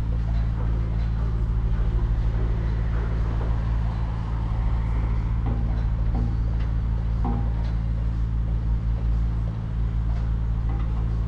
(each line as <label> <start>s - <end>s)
Major Construction Site 0.0s - 11.2s